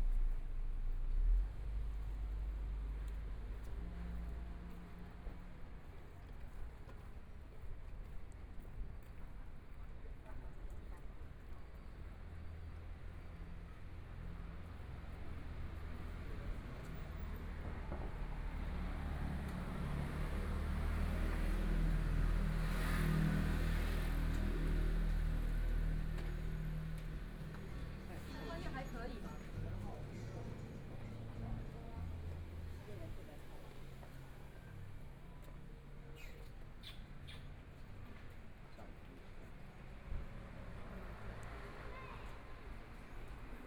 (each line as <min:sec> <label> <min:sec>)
0:00.0 Walking through the Street 0:43.6
0:11.9 Traffic Sound 0:43.6